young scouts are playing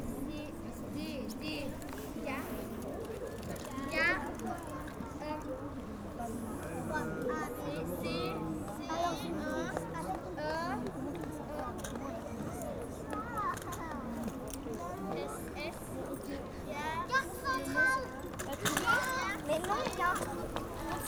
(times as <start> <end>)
12.9 21.0